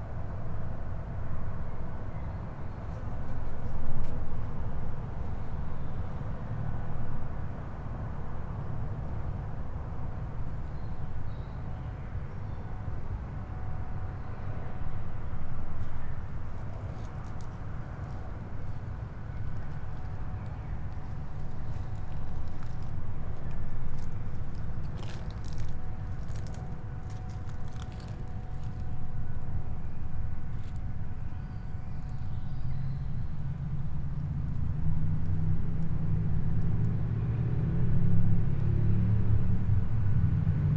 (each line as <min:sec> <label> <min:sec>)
0:19.6 grass brushes 0:29.1